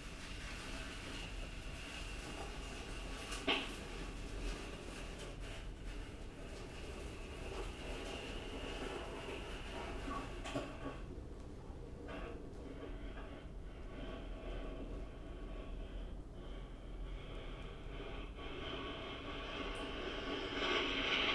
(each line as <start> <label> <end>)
0.0 Rubbing ash from a house fire 11.1